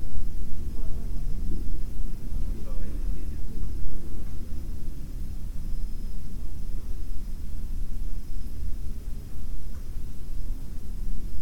wind coming from the ventilation 0.0 - 11.4

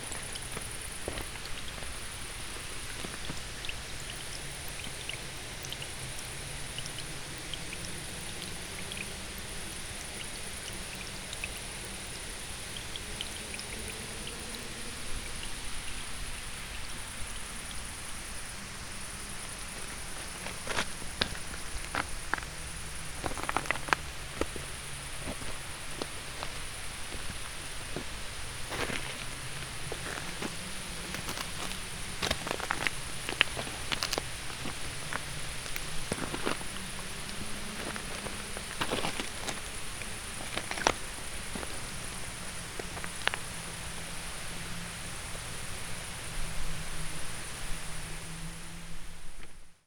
tiny water flow 0.0 - 49.6
gravel 0.0 - 49.7

